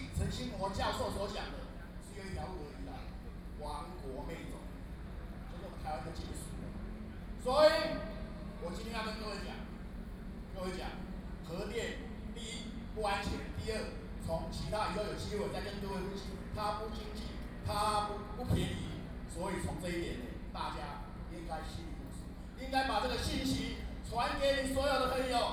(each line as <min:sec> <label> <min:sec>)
0:00.0 professionals are speeches 0:25.5